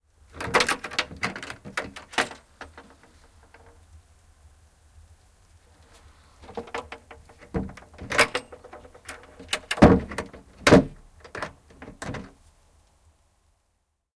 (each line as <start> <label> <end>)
0.3 Window, open and close 3.8
5.9 Window, open and close 12.4
6.4 hook clatters 10.4